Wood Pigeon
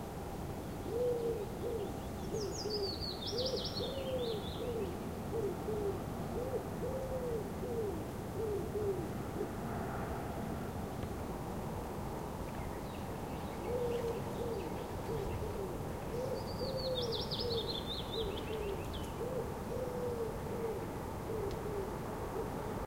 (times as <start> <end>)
13.6 22.7